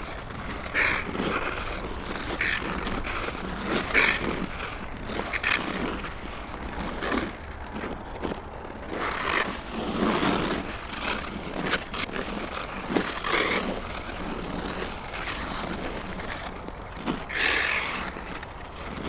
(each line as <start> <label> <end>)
0.0 Ice skating 19.0